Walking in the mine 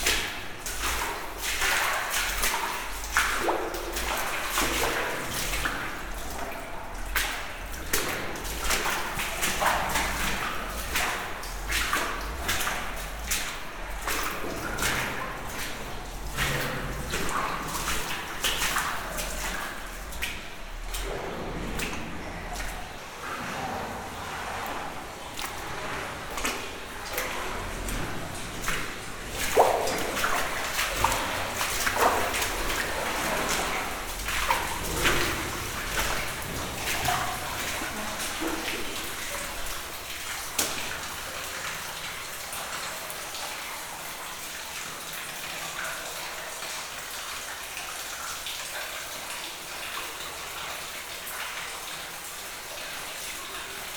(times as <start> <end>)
0.0 41.4